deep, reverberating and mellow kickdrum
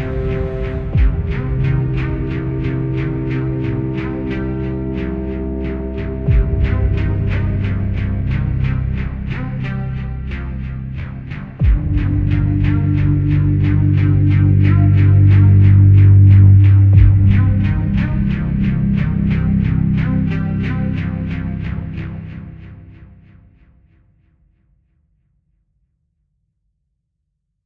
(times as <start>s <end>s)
0.0s 4.7s, 5.9s 10.1s, 11.0s 22.5s